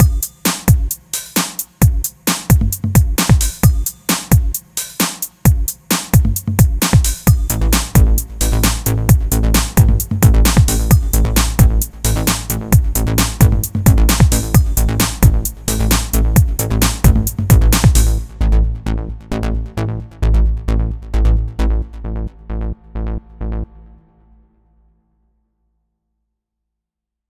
beatbox 0.0 - 18.3
bassline 1.8 - 4.6
bassline 5.5 - 24.7

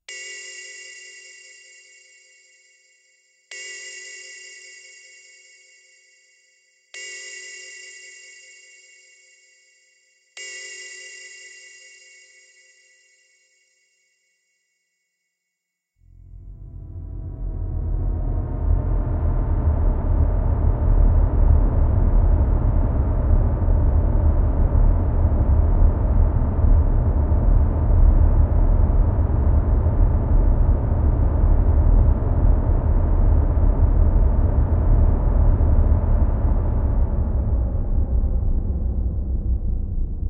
bells 0.0 - 14.9
descending synth 16.0 - 40.2

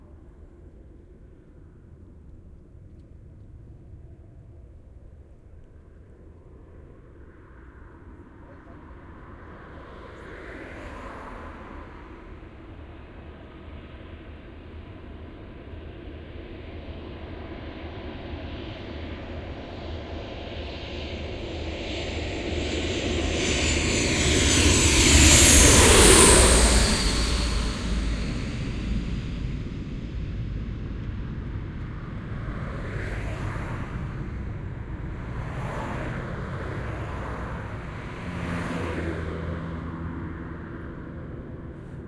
airplane pass overhead close bright 0.0 - 42.0
car pass 5.9 - 15.8
car pass 23.6 - 42.0

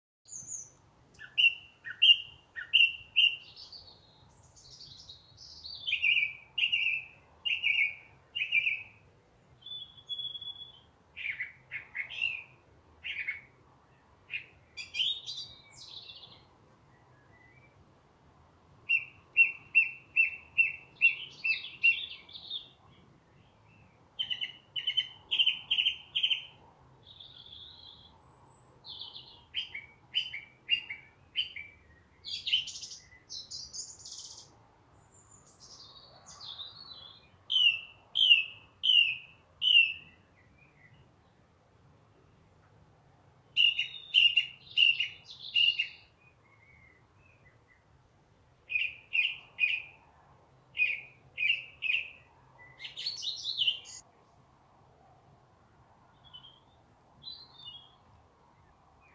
loud and clear song of a Song Thrush 0.2 - 59.1

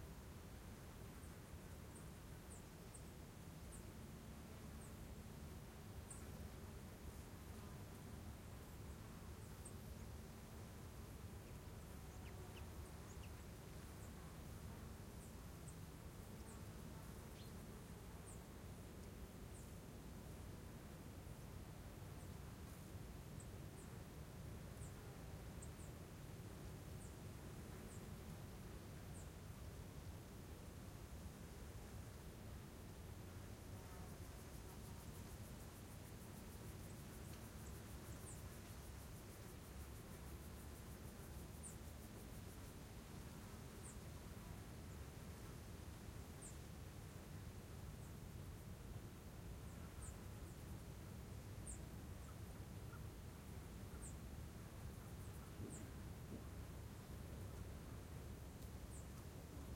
pheasant 51.6 - 53.1

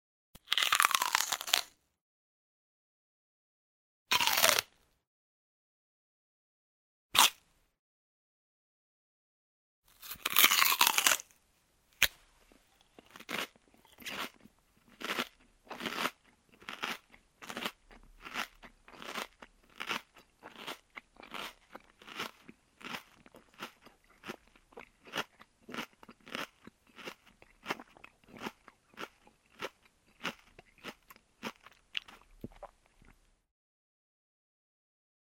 Eating an apple 0.4 - 1.8
Eating an apple 4.1 - 4.8
Eating an apple 7.2 - 7.5
Eating an apple 9.9 - 11.4
Eating an apple 12.0 - 33.3

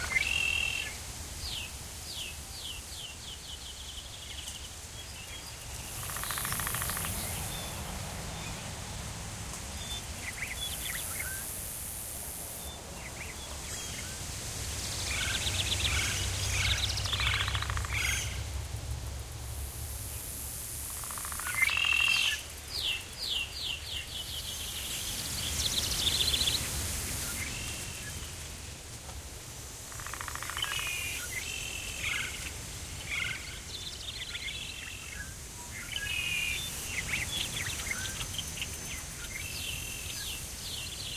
birds 0.0 - 28.7
bugs 0.0 - 41.1
wind 0.0 - 41.1
birds 29.8 - 41.1

